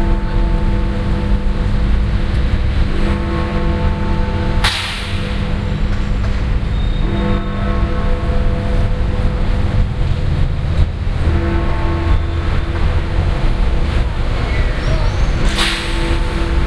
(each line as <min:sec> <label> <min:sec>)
0:00.0 Big Ben 0:16.6